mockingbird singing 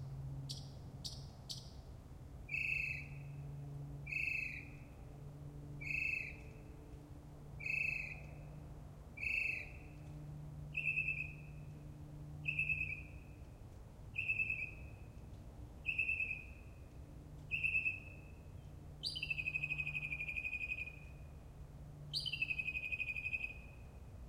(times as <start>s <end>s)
17.5s 18.1s, 19.0s 21.0s, 22.1s 23.6s